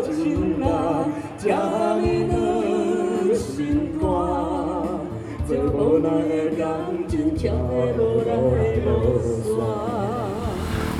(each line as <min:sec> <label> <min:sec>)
0:09.2 Traffic Sound 0:10.9